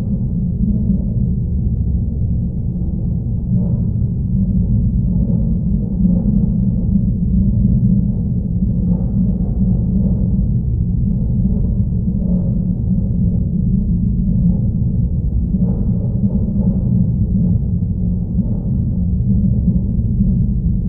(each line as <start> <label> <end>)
0.0 drone like background 20.8